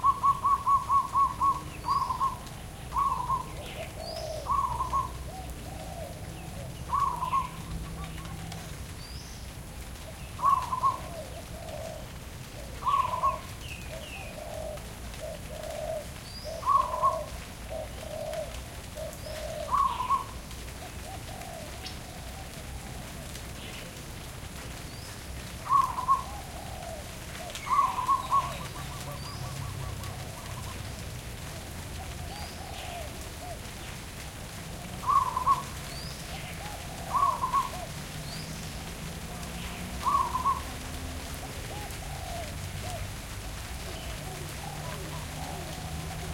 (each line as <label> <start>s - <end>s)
Birds 0.0s - 46.3s
Rain 0.0s - 46.3s